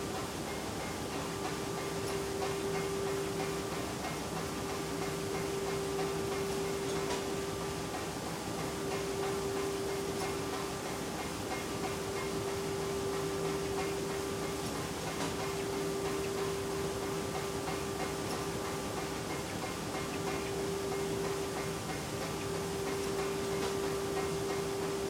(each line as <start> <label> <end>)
0.0 machinery 25.0